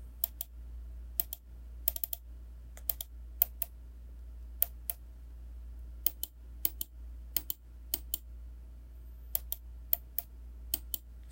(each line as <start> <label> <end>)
0.2 mouse clicks 0.5
1.2 mouse clicks 2.2
2.8 mouse clicks 3.8
4.5 mouse clicks 5.0
6.0 mouse clicks 8.3
9.3 mouse clicks 11.3